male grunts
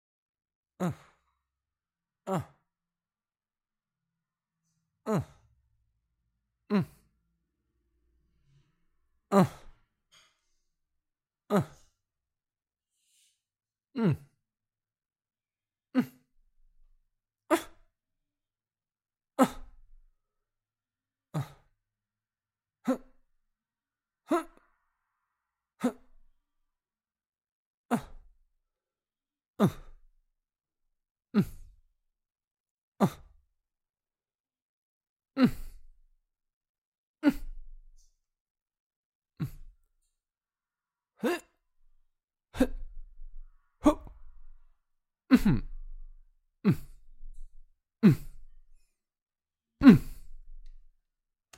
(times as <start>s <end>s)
0.8s 1.2s, 2.3s 2.6s, 5.0s 5.4s, 6.7s 7.0s, 9.3s 9.7s, 11.5s 11.9s, 14.0s 14.3s, 17.5s 17.8s, 21.4s 21.6s, 24.3s 24.6s, 25.8s 26.0s, 27.9s 28.2s, 29.6s 29.9s, 31.4s 31.6s, 33.0s 33.2s, 35.4s 35.8s, 37.2s 37.6s, 39.4s 39.7s, 41.2s 41.5s, 42.6s 42.9s, 43.8s 44.3s, 45.3s 45.8s, 46.7s 47.0s, 48.0s 48.4s, 49.8s 50.2s